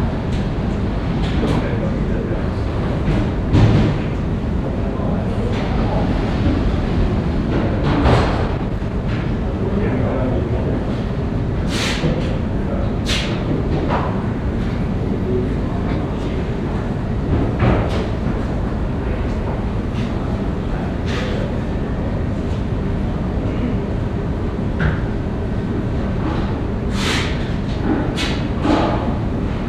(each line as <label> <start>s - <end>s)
permanent sound of a ventilation 0.0s - 29.6s